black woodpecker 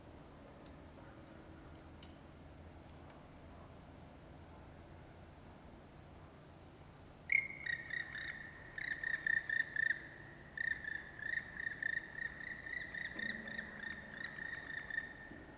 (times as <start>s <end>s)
7.3s 15.5s